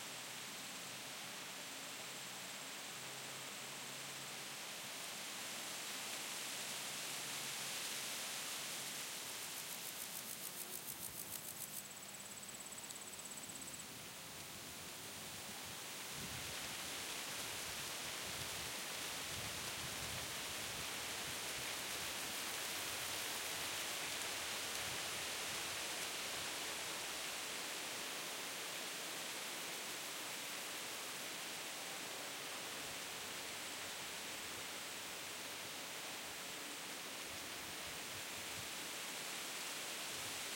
0.0s wind through aspens 40.5s

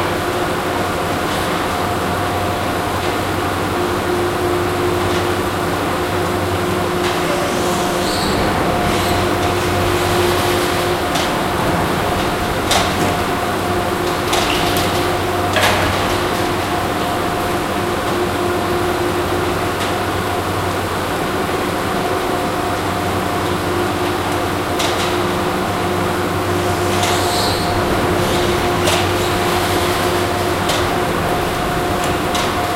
7.0s doors opening/closing 16.7s

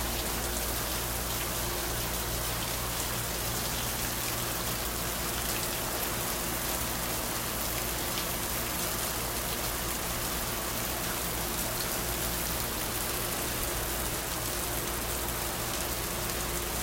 0.0s Raining near the porch 16.8s

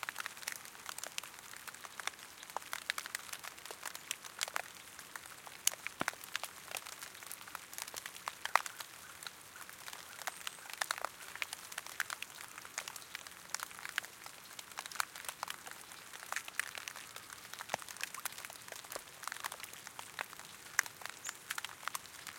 0.0s rain drips on wet leaves 22.3s

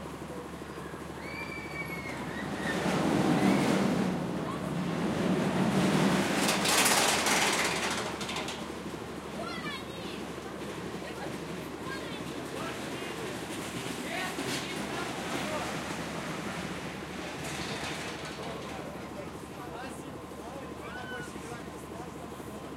0.0s Amusement park attraction ride 22.7s

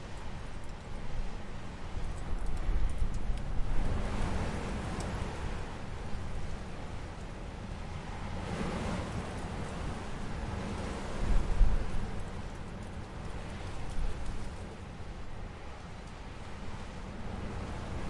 0.0s Strong wind 18.0s

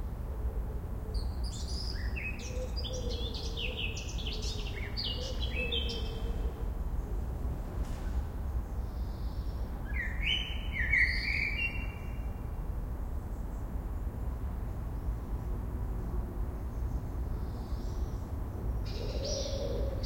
1.5s Blackcap singing 6.2s
9.9s Blackcap singing 12.2s

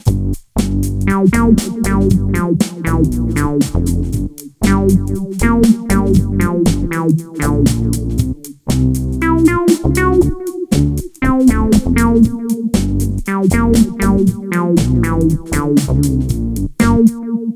0.0s basses 17.2s
0.0s drums 17.2s
1.1s synth 8.5s
9.2s synth 16.2s
16.8s synth 17.5s

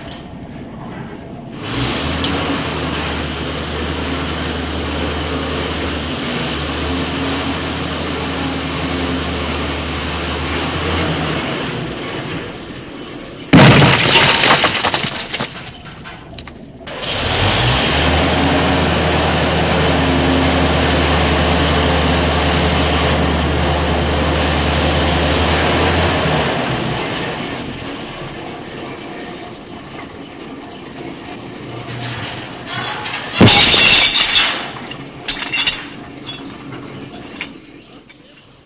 0.0s Demolition excavator with wrecking ball 38.6s

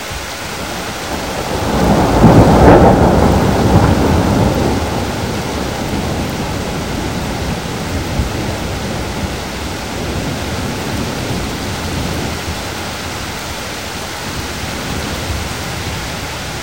0.0s RAIN 16.6s
0.0s WIND 16.6s
0.4s THUNDER 13.4s

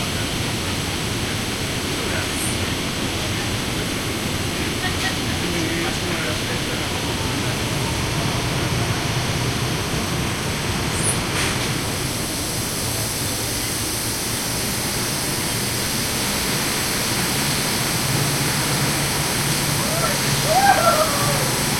17.2s low voices 21.7s

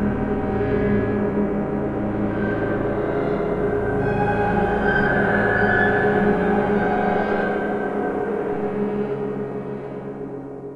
0.0s clustered piano-sounds 10.7s

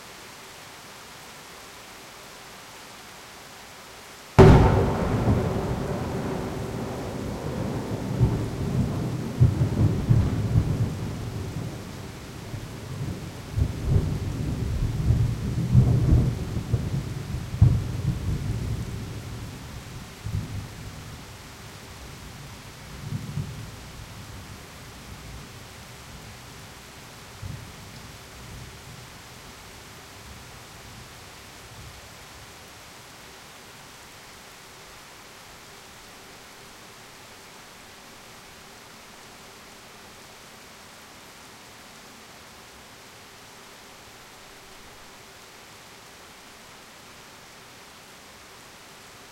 4.4s thunder was very loud 11.8s

